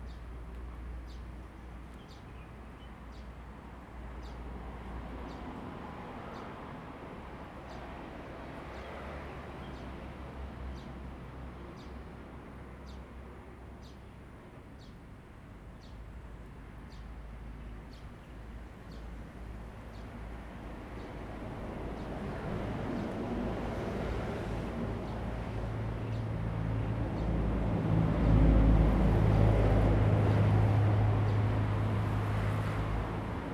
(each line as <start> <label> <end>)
18.8 Traffic Sound 33.5